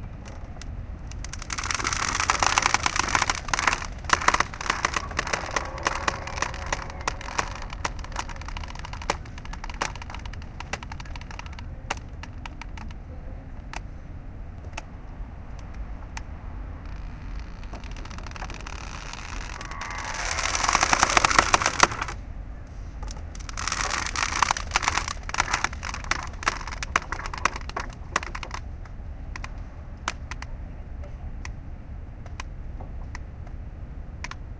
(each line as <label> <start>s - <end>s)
mooring line 1.0s - 13.8s
mooring line 15.5s - 22.3s
mooring line 23.0s - 28.7s